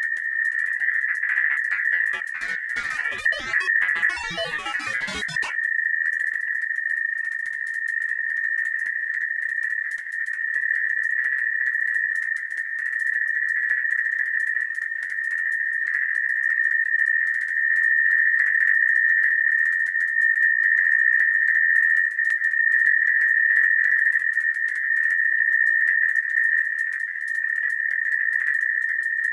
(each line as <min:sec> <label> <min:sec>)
0:01.3 Glitched Oscillations 0:05.6